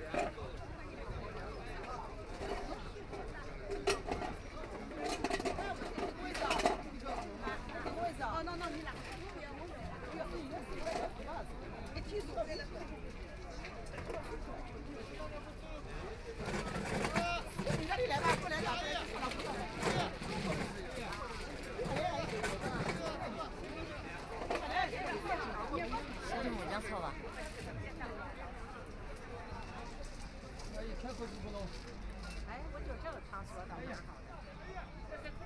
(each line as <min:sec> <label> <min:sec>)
0:00.0 elderly people gathered in an area to play mahjong 0:35.4